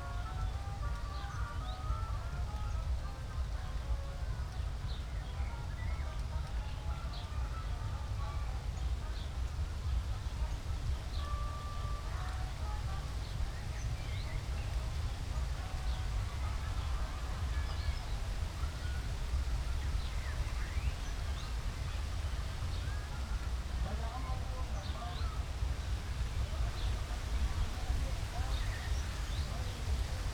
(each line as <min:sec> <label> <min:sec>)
0:00.0 wind 0:30.3